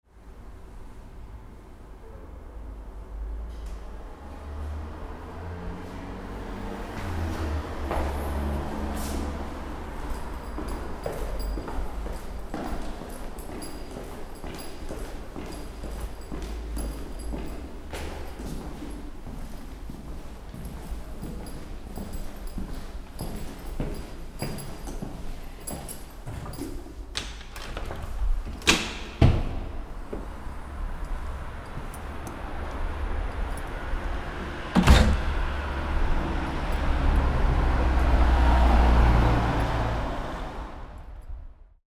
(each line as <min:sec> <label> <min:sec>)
0:03.4 Stairway walk, exiting the house 0:41.4